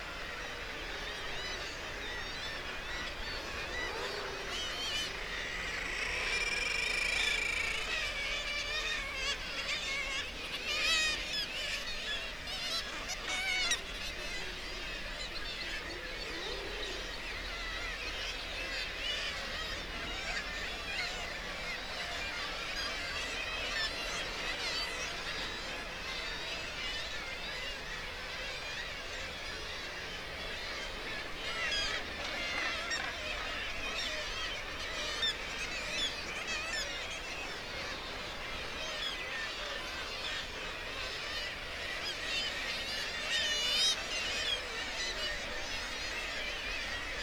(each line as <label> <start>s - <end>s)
kittiwake calls and flight calls 17.4s - 47.2s